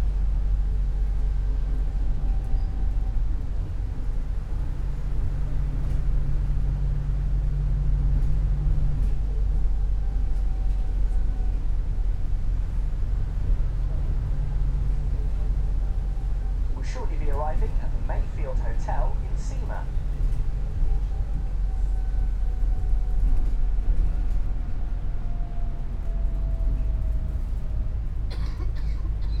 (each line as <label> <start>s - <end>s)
bus 0.0s - 29.4s
walk into the towncentre 0.0s - 29.4s
voices 16.7s - 20.2s